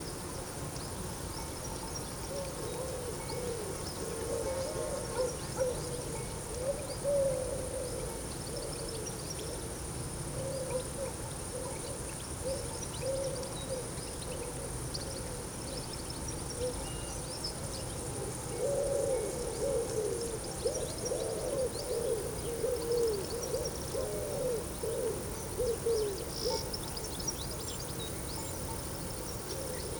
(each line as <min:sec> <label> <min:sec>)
0:15.0 orthoptera 0:29.9